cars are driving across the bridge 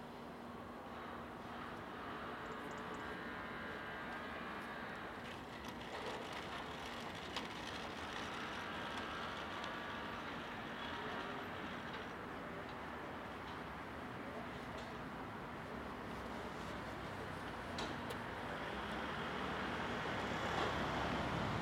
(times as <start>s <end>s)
6.4s 21.6s